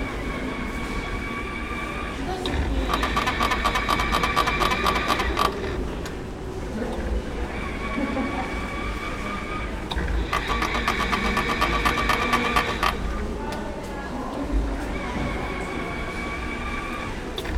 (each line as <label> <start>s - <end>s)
rotierende Werbung 2.4s - 5.9s
rotierende Werbung 9.9s - 13.2s